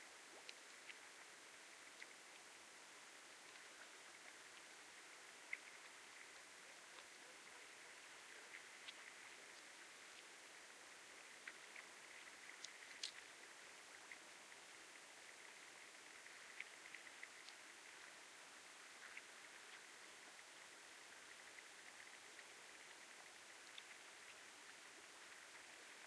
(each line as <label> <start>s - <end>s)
Water 0.0s - 26.0s